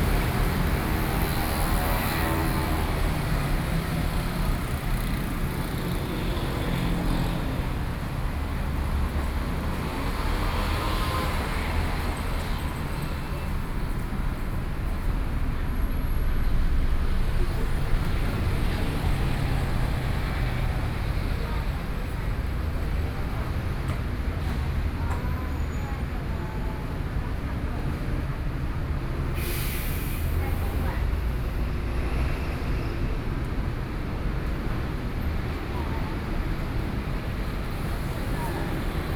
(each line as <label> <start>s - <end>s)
Traffic noise 0.0s - 39.1s